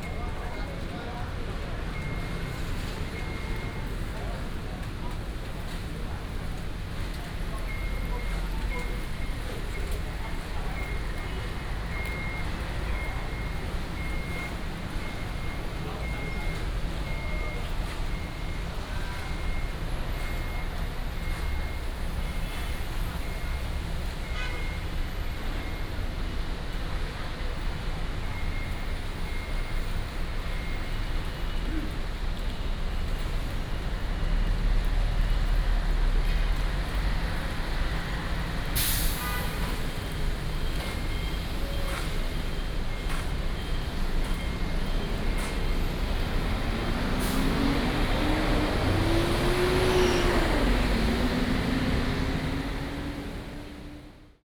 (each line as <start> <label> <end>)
0.0 Parking construction sound 54.4
0.0 Traffic sound 54.4
0.7 Rainy day 54.3